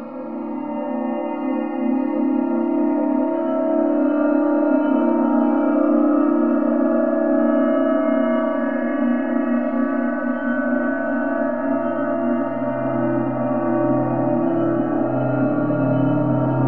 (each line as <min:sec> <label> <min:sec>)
0:00.0 evolving, resonant drone 0:16.6